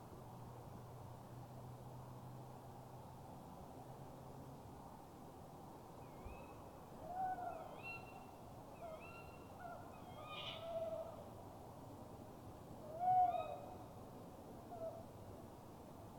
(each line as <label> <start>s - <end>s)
Owls 6.1s - 11.2s
Owls 12.9s - 13.8s